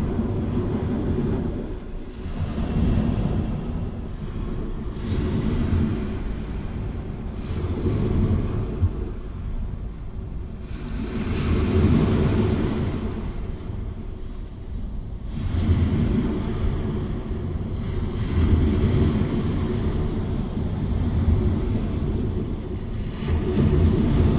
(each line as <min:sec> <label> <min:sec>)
0:00.0 sea wave 0:24.3